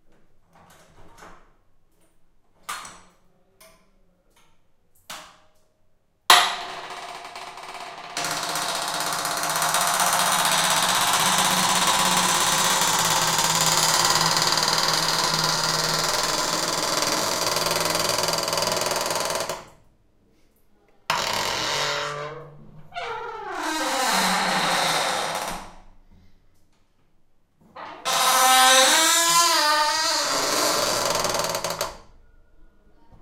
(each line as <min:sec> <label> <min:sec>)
0:07.2 Heavy door squeak 0:19.6
0:21.1 Heavy door squeak 0:25.8
0:27.8 Heavy door squeak 0:32.2